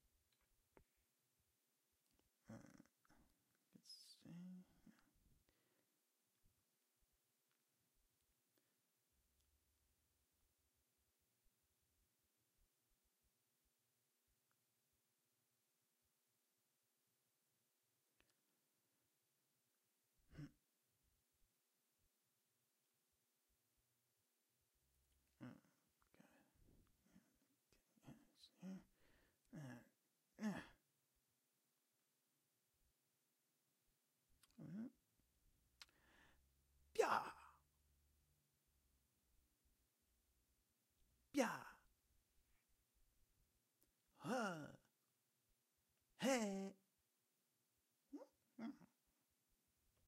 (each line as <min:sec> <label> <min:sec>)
0:02.4 Comical male grunts and mumbling 0:03.2
0:03.8 Comical male grunts and mumbling 0:05.0
0:20.3 Comical male grunts and mumbling 0:20.6
0:25.3 Comical male grunts and mumbling 0:30.8
0:34.4 Comical male grunts and mumbling 0:35.0
0:36.9 Comical male grunts and mumbling 0:37.6
0:41.3 Comical male grunts and mumbling 0:41.9
0:44.1 Comical male grunts and mumbling 0:44.9
0:46.2 Comical male grunts and mumbling 0:46.8
0:48.1 Comical male grunts and mumbling 0:49.0